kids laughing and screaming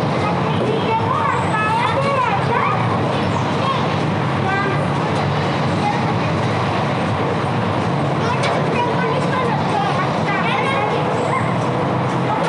8.2s 12.4s

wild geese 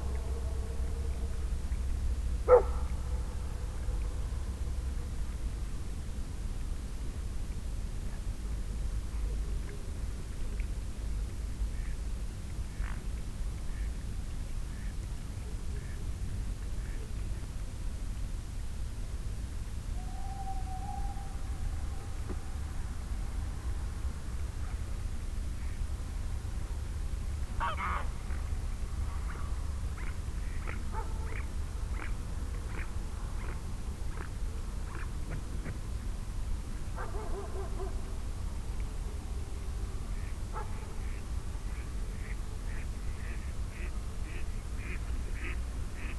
27.6s 28.2s, 29.3s 34.3s, 40.2s 46.1s

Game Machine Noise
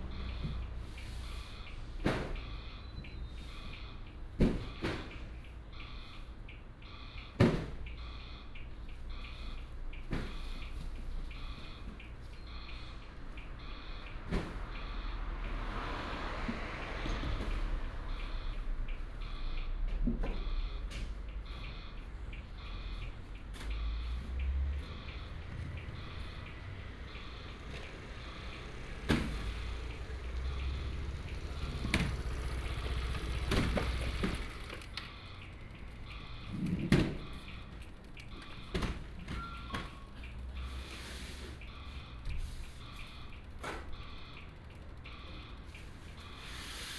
21.5s 40.9s

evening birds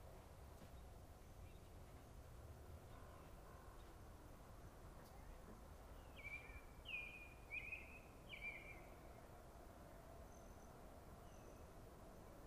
5.0s 12.4s

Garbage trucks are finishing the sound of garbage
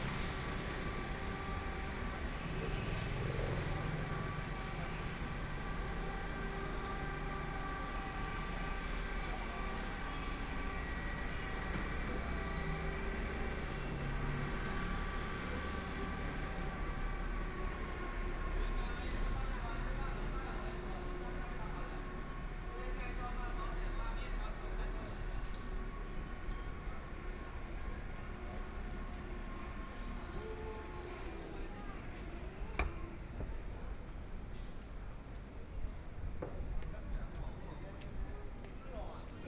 0.0s 18.5s

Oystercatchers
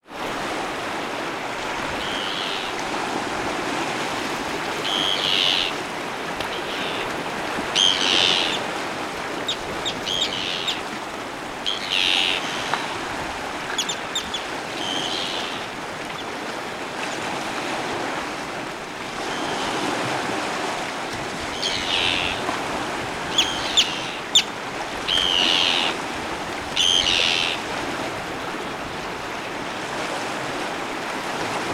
2.0s 2.8s, 4.8s 5.8s, 6.4s 7.1s, 7.7s 8.7s, 9.3s 10.9s, 11.6s 13.0s, 13.7s 16.3s, 21.5s 22.5s, 23.2s 26.0s, 26.8s 27.7s

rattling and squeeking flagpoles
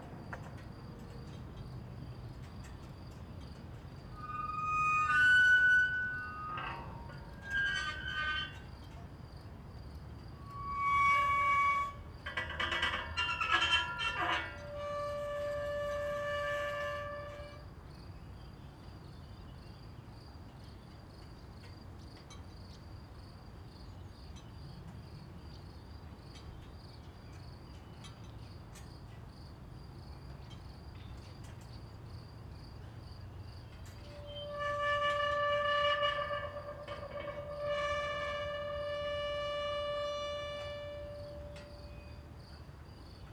0.0s 9.2s, 10.3s 17.7s, 33.7s 42.6s

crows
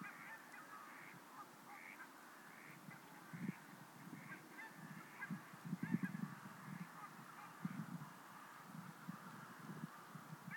0.0s 3.6s

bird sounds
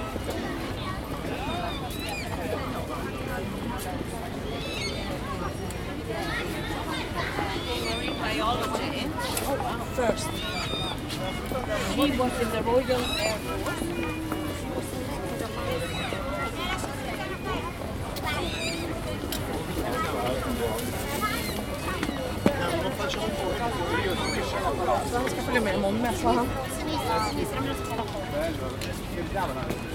1.4s 2.6s, 4.5s 5.6s, 10.0s 14.2s, 15.6s 16.8s, 20.8s 27.8s

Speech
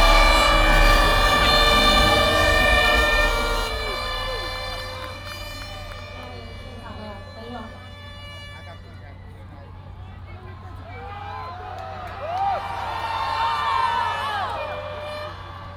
6.0s 11.7s

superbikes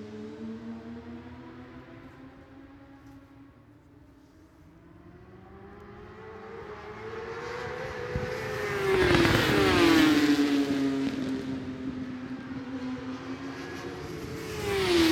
4.4s 15.1s

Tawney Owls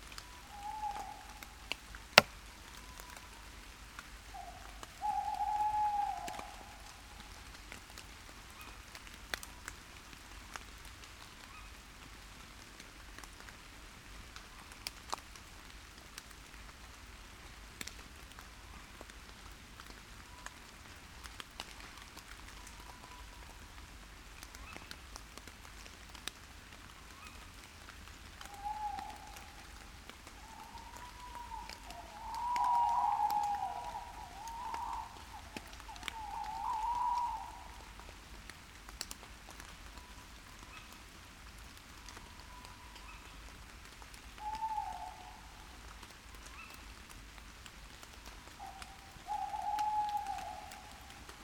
30.4s 37.8s

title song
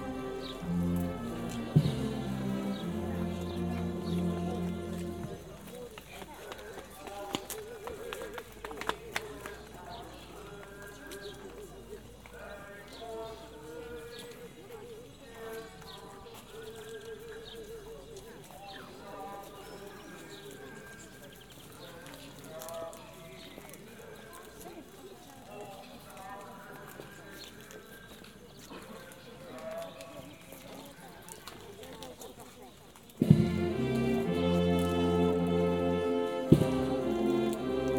0.0s 5.6s, 33.2s 37.9s

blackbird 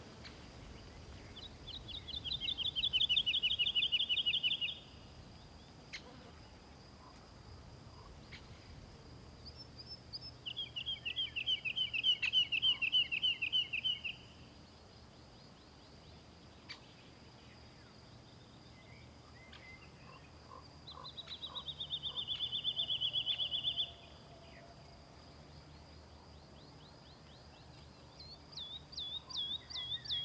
19.0s 24.1s, 27.8s 30.2s

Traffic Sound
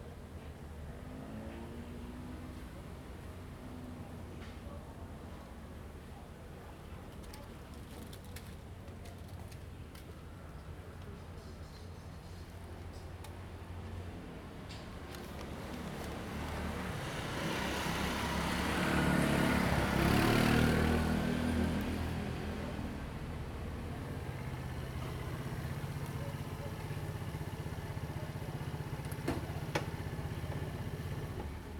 13.7s 31.7s

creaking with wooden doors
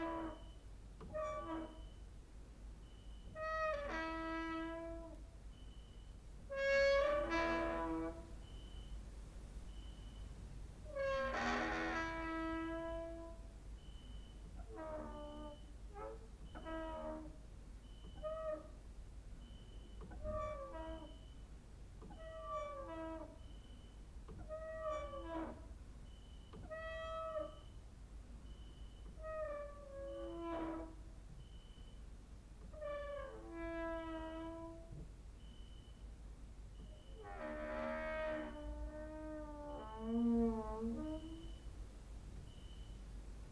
0.0s 2.0s, 3.3s 5.2s, 6.5s 8.3s, 10.8s 13.4s, 14.6s 17.4s, 18.0s 18.8s, 20.0s 21.3s, 22.0s 23.4s, 24.3s 25.7s, 29.1s 31.0s, 32.7s 35.0s, 36.8s 41.7s

